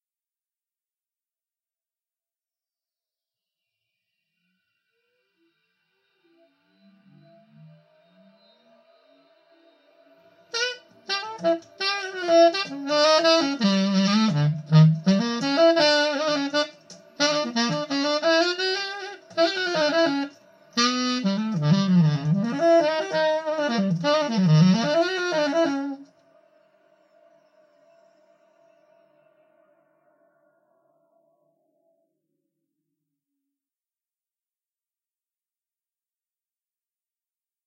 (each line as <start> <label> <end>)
9.8 saxophone reverb 31.1